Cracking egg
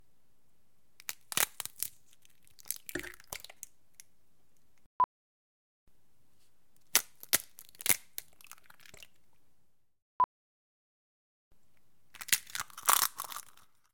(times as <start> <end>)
1.0 3.7, 6.8 9.1, 12.2 13.9